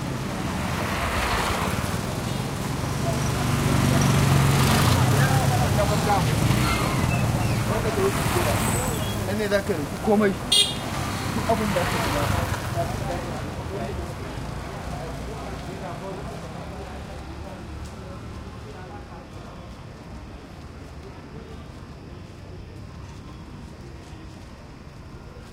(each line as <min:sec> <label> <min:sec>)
0:00.0 throaty motorcycles and cars 0:18.4
0:00.0 crowd 0:25.5
0:00.0 light traffic 0:25.5
0:00.1 crickets 0:25.5